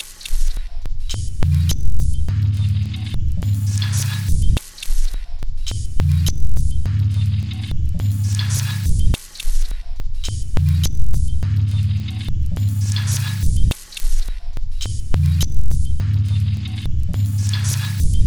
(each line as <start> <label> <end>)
3.2 Drum Loop 11.7